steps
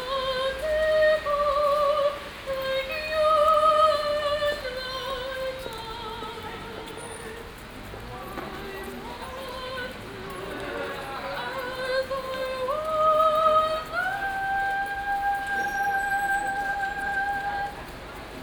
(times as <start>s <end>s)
5.1s 18.4s